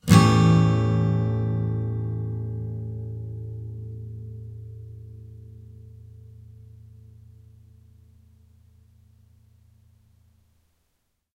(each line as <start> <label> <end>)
0.0 acoustic guitar strum with medium metal pick 9.9